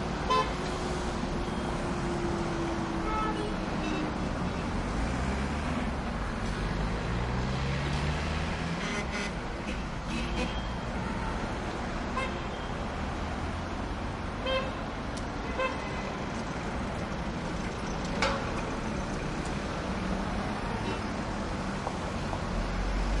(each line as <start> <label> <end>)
16.2 throaty cars moving slowly 23.2